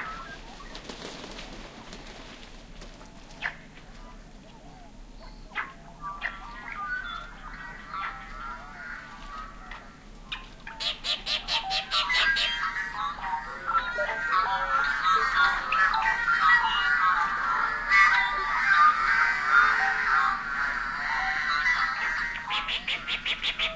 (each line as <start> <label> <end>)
0.0 blackbirds 23.7